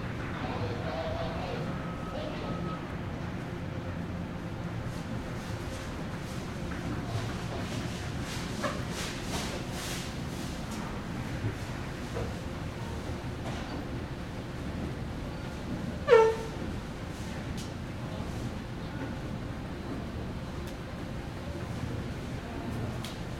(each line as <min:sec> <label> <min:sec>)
0:00.0 people 0:02.9